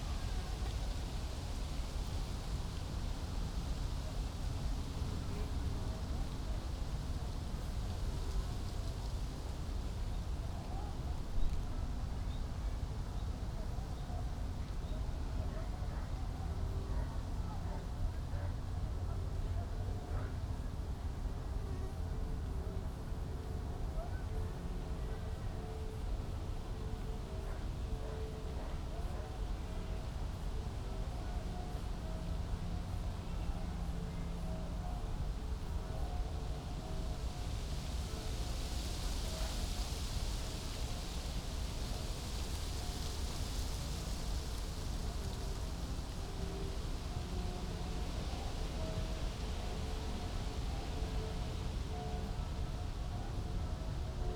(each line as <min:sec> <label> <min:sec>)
0:00.0 lots of human activity in a distance 0:54.3
0:00.0 wind 0:54.3